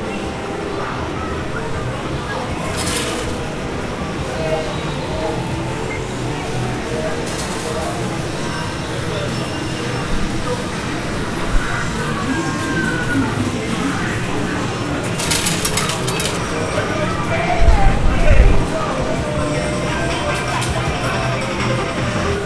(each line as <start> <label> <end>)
2.7 coins 3.4
15.0 Machine 16.8
15.1 coins 16.6